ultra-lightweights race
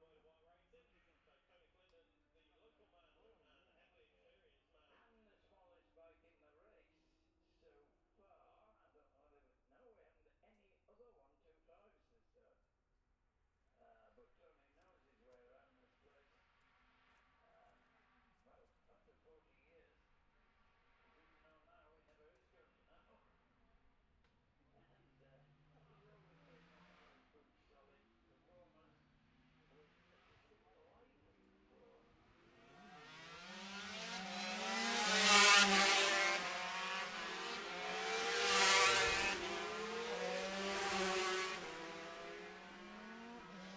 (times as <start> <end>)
25.0 43.7